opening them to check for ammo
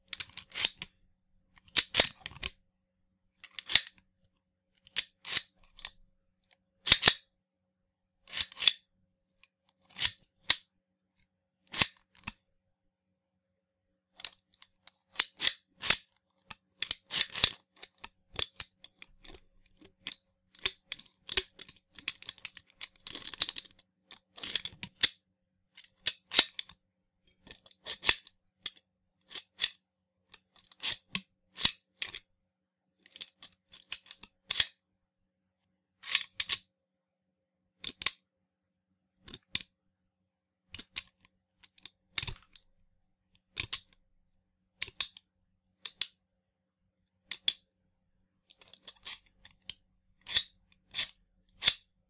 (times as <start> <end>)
6.9 7.2